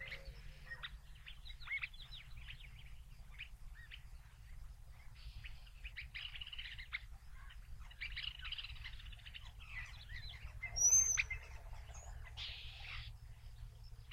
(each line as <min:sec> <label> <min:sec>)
0:00.0 Insects 0:14.1
0:00.0 birdsong 0:14.1